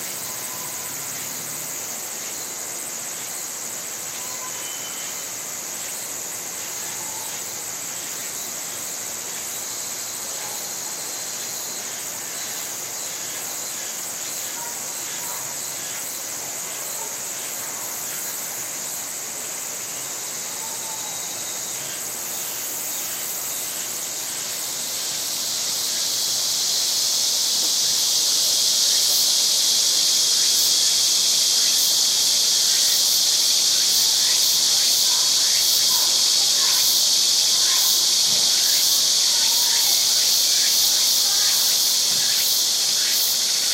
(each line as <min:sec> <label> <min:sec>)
0:00.0 cicadas chirping away 0:43.7